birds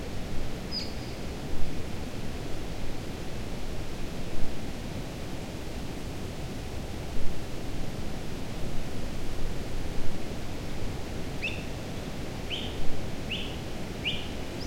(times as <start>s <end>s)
12.5s 14.6s